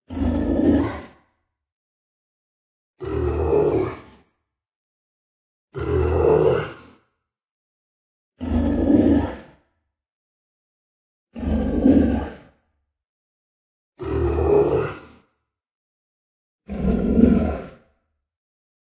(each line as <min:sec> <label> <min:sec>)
0:00.1 Monster Growls 0:01.2
0:03.0 Monster Growls 0:04.3
0:05.8 Monster Growls 0:07.1
0:08.4 Monster Growls 0:09.6
0:11.3 Monster Growls 0:12.6
0:14.0 Monster Growls 0:15.3
0:16.7 Monster Growls 0:18.0